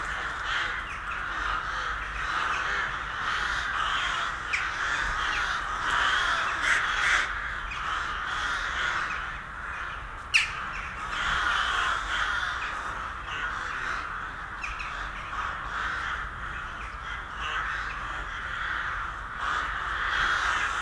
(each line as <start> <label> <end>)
0.0 crows colony 20.8